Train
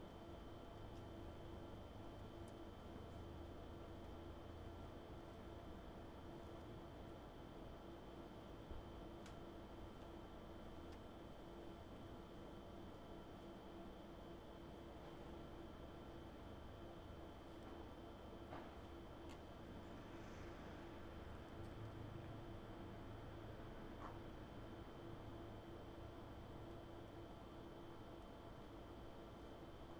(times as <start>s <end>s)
19.8s 21.9s